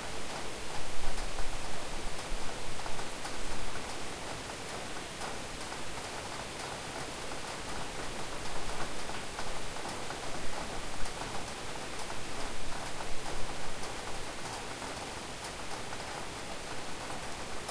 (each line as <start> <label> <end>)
0.0 rain 17.7